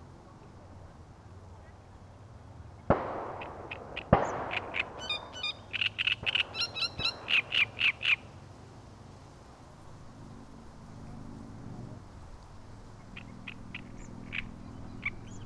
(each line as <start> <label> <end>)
3.3 Great reed warbler 8.5
12.6 Great reed warbler 15.4